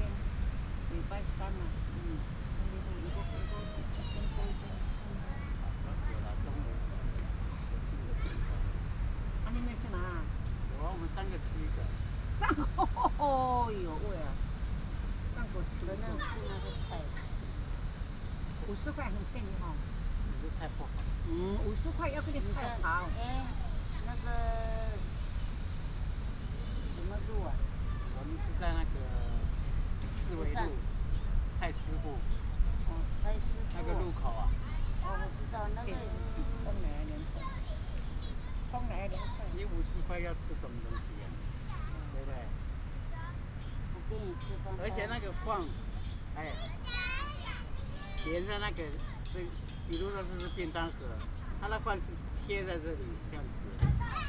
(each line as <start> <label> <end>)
0.0 Several elderly people are chatting 54.2